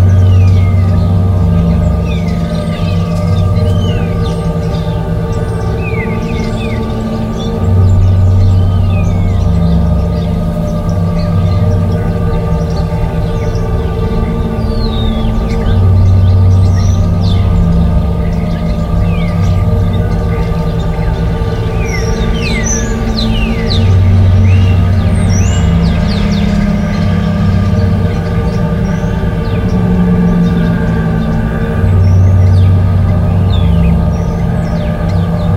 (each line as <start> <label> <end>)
0.0 Birds 35.5